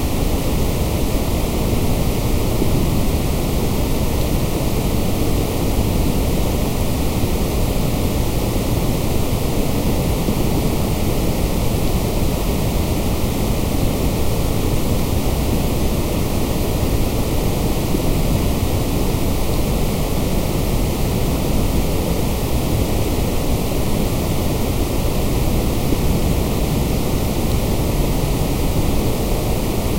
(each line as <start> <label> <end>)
0.0 white noise 29.9